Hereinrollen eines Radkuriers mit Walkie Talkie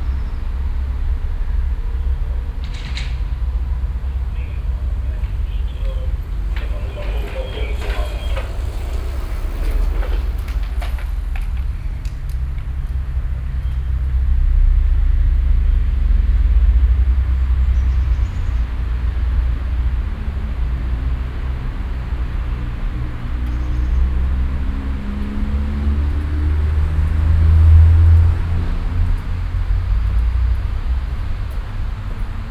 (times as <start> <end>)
4.4 9.0